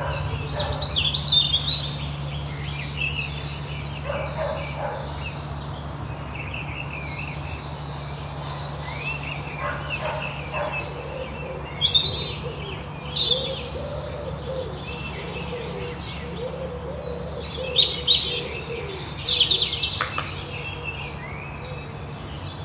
birds 0:00.0 - 0:22.6

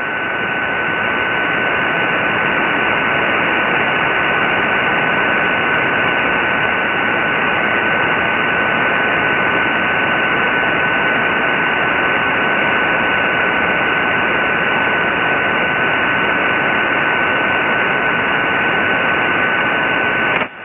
Very weak signal with lots of ionospheric fading 0:00.0 - 0:20.6
static 0:00.0 - 0:20.6

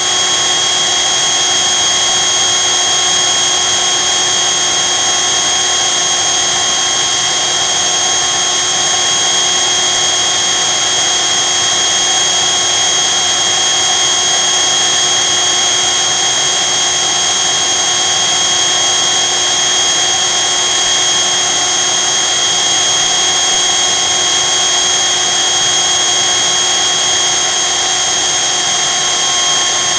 small handheld vacuum cleaner 0:00.0 - 0:29.9

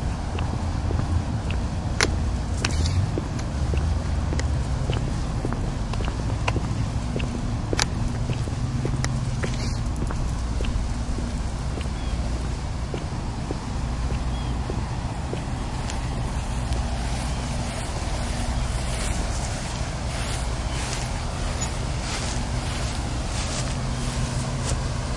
walkingdog 0:03.7 - 0:12.3

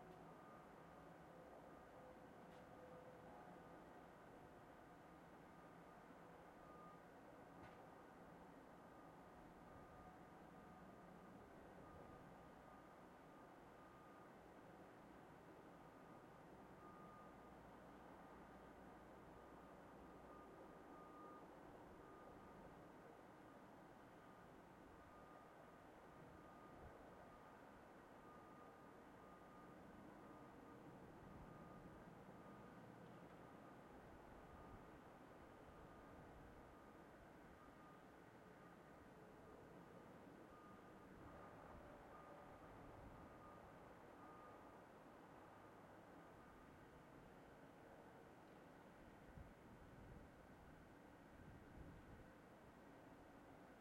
sounds of the town 0:00.0 - 0:53.8

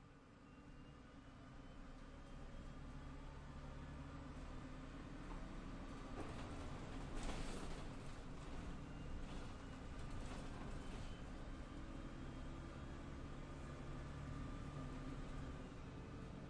bus 0:00.0 - 0:16.4

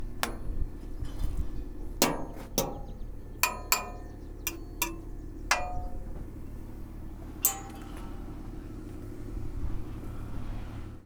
Scrapes 0:00.0 - 0:06.2
Bangs 0:00.0 - 0:06.7
rattle 0:00.0 - 0:08.5
Clanks 0:00.0 - 0:08.6
Machines 0:00.0 - 0:10.3
Bangs 0:07.4 - 0:08.4

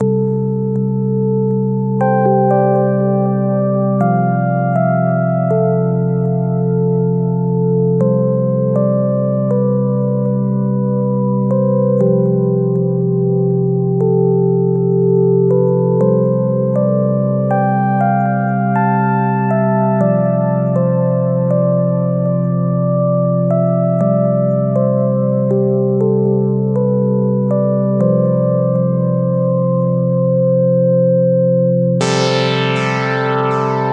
calm unfinished electronic motive 0:00.0 - 0:05.0
calm unfinished electronic motive 0:32.0 - 0:33.9

